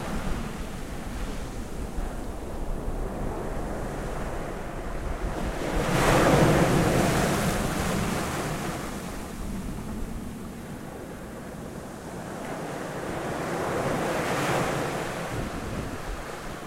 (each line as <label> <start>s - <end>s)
sea 0.0s - 16.6s